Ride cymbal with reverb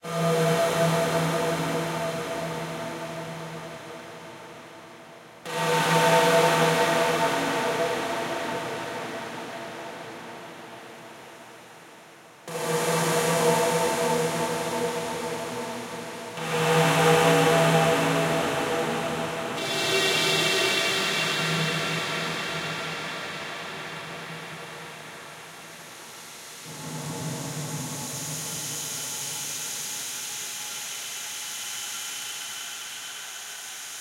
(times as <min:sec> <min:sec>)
0:12.5 0:34.0